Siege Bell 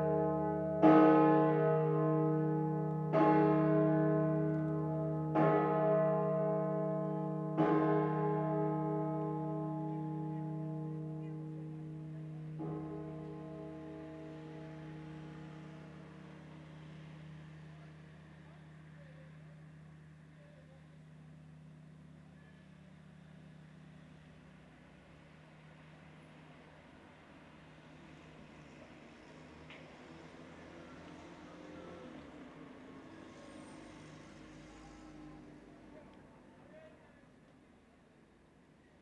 0.0s 20.4s

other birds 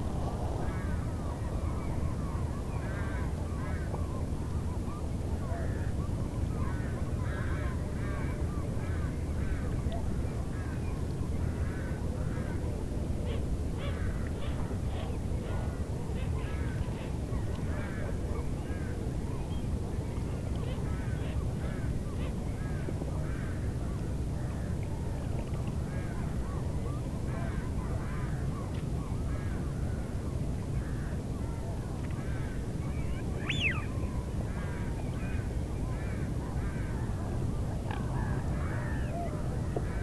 32.3s 34.0s

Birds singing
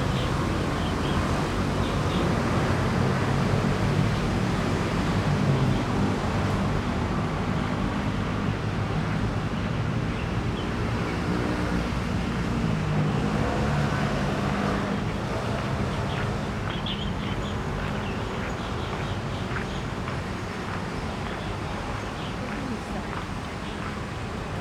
15.0s 23.9s

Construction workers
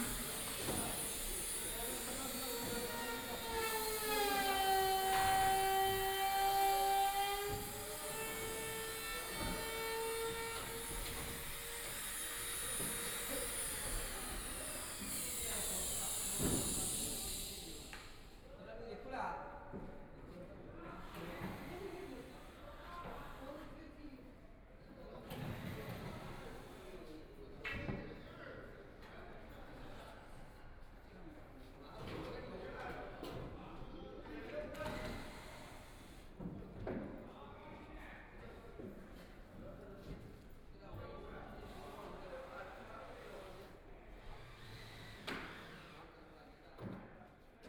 0.0s 18.4s, 31.6s 40.5s

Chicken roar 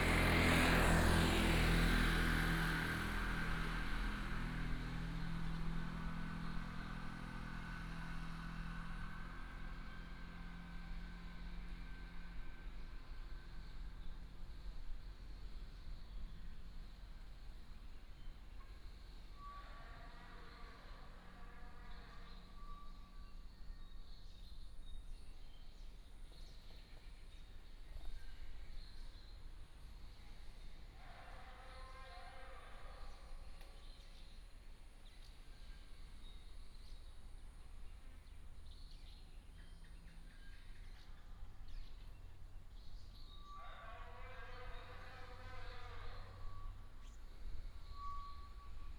43.6s 46.4s

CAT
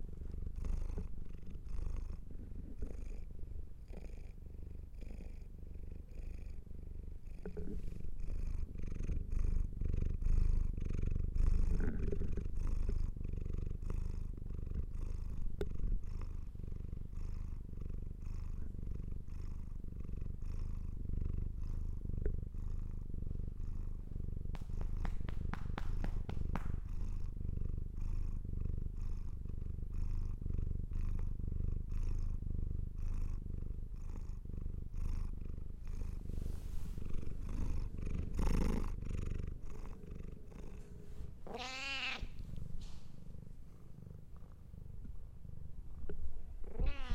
41.4s 42.4s, 46.7s 47.1s

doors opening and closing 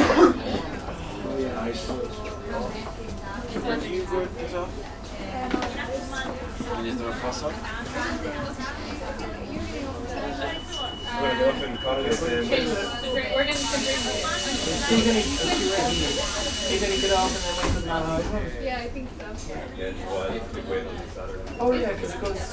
14.8s 18.4s

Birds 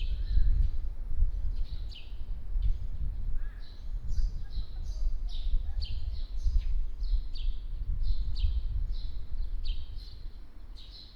3.4s 11.1s

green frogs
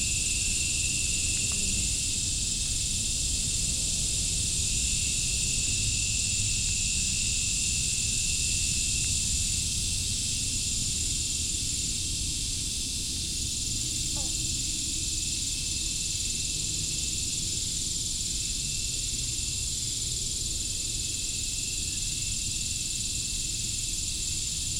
13.9s 15.3s

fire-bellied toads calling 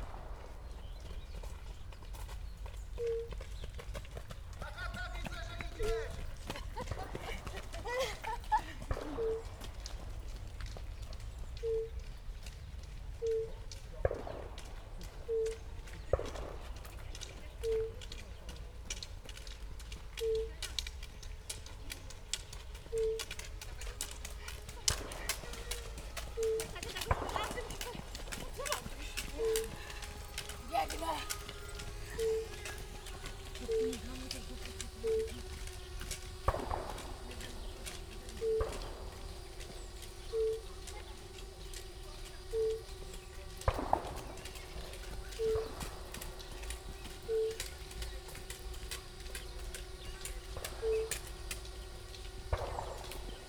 20.2s 53.4s

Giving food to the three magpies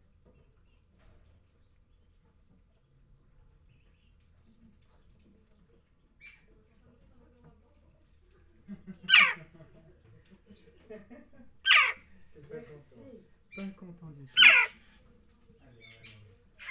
9.1s 9.4s, 11.7s 12.0s, 14.4s 14.8s

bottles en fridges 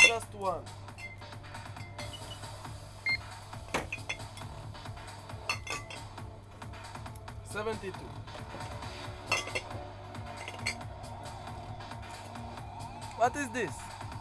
0.0s 4.7s, 5.4s 6.3s, 8.2s 11.0s

